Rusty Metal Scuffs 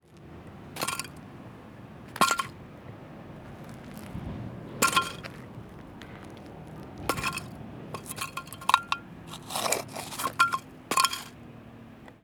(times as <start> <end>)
0.8 1.2, 2.1 2.6, 3.4 11.4